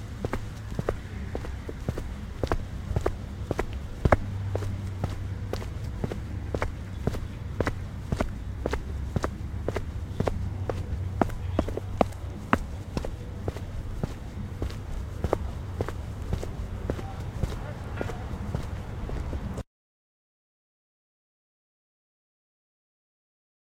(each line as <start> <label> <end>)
0.0 foot steps on pavement 19.6